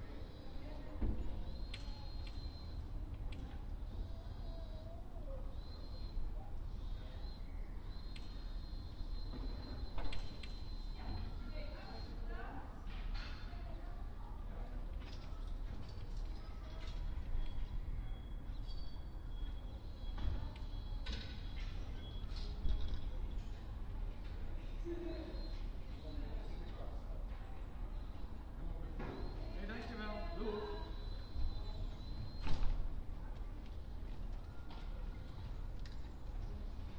voices 0:00.0 - 0:18.5
birds 0:00.0 - 0:12.4
voices 0:19.5 - 0:32.4

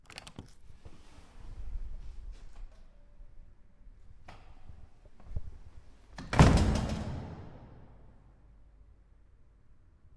door opening and closing into a stairwell 0:06.1 - 0:08.1

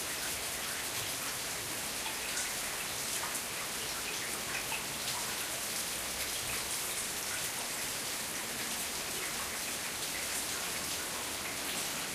rain 0:00.0 - 0:12.1

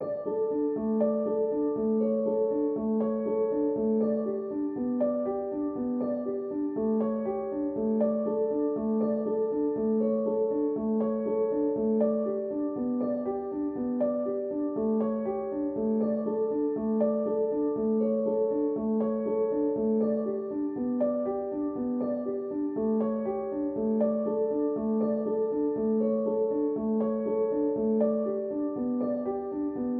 piano 0:00.0 - 0:29.9

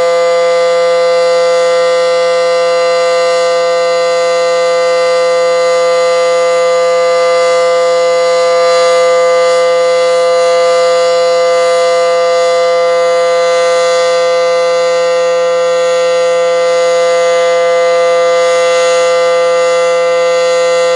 Civil Defense sirens 0:00.0 - 0:20.9

